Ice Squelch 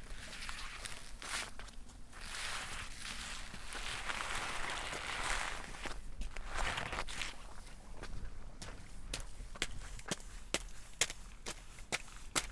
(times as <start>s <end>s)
0.2s 7.4s